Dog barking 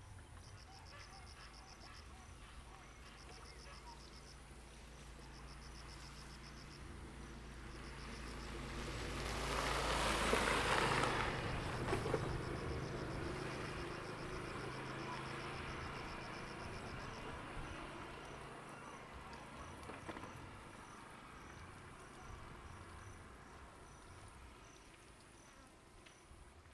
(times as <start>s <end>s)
0.6s 4.1s